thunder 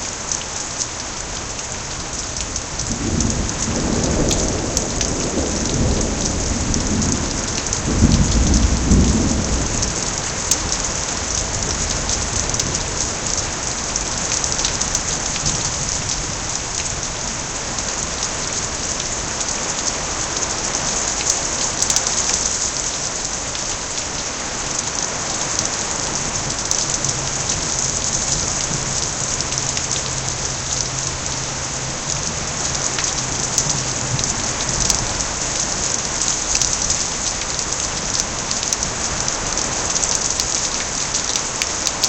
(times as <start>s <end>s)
2.9s 12.9s